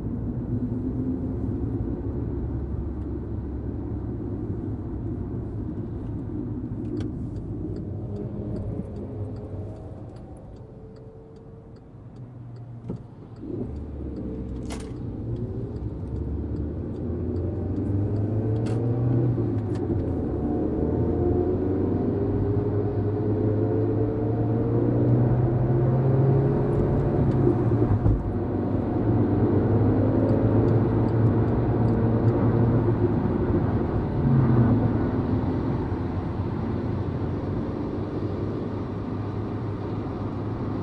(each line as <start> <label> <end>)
0.0 car driving on a German Autobahn 40.8
14.4 seatbelts are buckled 15.1